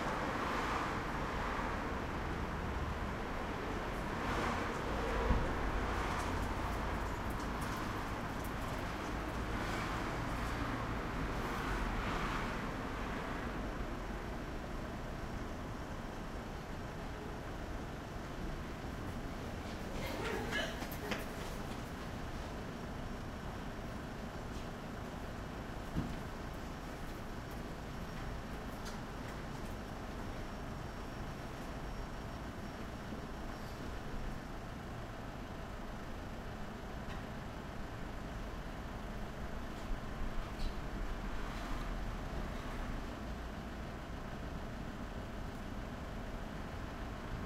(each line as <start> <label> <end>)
0.0 cars driving past 13.8
0.0 buses 47.4
0.0 trucks 47.4
19.1 People walking past 22.8